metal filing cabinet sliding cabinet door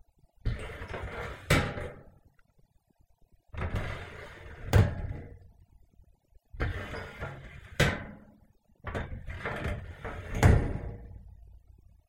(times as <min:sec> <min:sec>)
0:00.5 0:02.1, 0:03.6 0:05.4, 0:06.6 0:08.3, 0:08.9 0:11.2